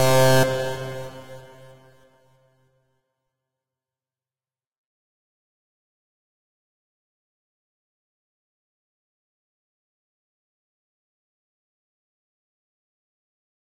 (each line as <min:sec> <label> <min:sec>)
0:00.0 synth 0:02.0